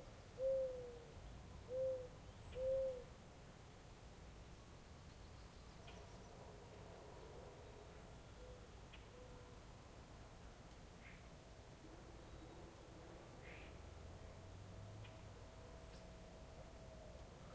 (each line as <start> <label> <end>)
0.0 reoccurring American Mourning Dove calling 3.2
0.0 light wind 17.5
5.8 reoccurring American Mourning Dove calling 9.6
11.0 distant traffic 17.5
11.0 reoccurring American Mourning Dove calling 17.5